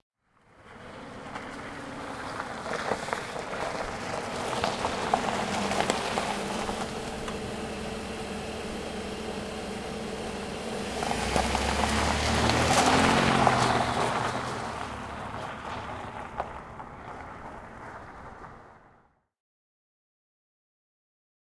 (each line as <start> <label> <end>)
0.4 Van pulls up on gravel, stops, drives off 19.1